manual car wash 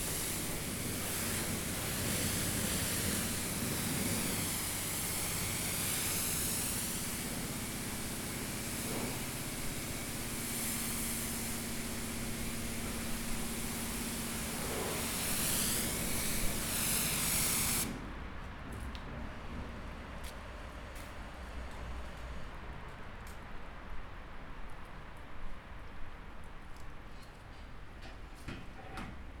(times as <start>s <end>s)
0.0s 18.0s